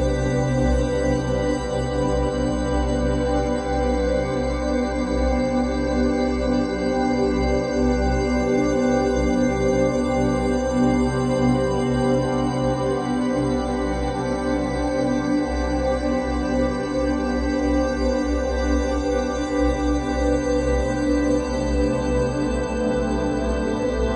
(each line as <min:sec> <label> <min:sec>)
0:00.0 synthesizer 0:24.1